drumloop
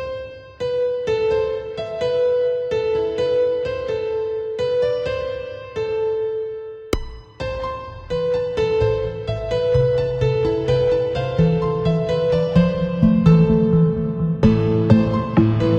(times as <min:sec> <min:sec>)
0:07.0 0:07.6